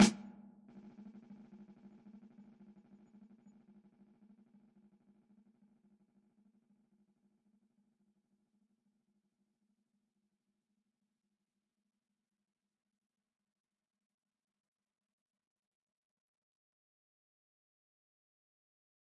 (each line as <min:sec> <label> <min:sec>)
0:00.0 dry snare with effects 0:00.4